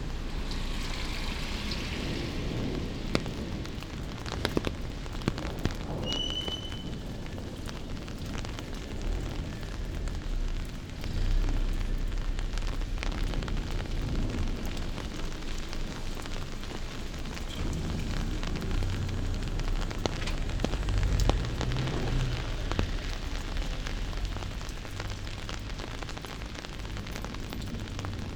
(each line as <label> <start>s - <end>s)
walking in the rain 0.0s - 28.3s